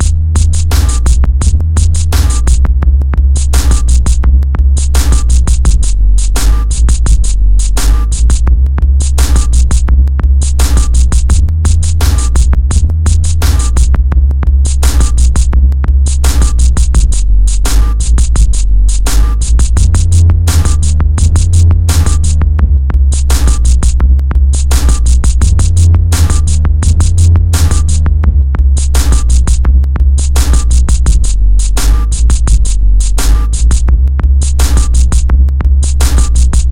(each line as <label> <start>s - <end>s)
bass 0.0s - 36.7s
drums 0.0s - 36.7s